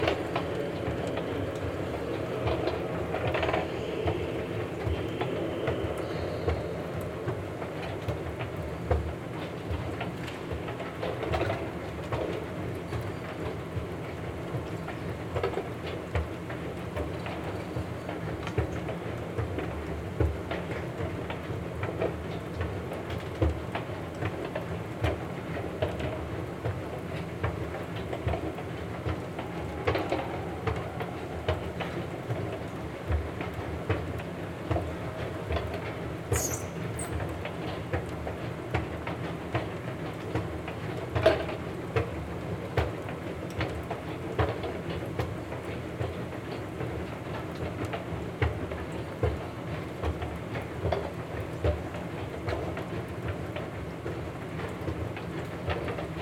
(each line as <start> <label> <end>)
36.3 escalator 37.2